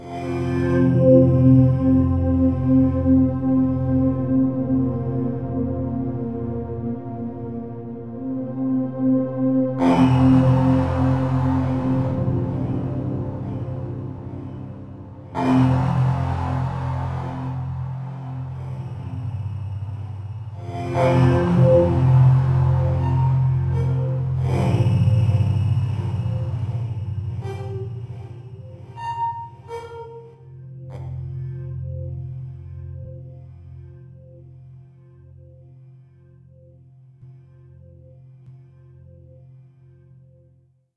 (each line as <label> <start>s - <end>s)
flowing synth pad 0.9s - 29.8s